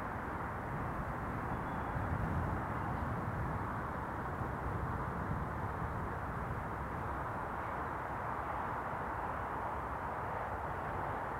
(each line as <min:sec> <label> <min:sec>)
0:00.0 wind 0:11.3
0:00.0 a lark sings beneath the wind 0:04.2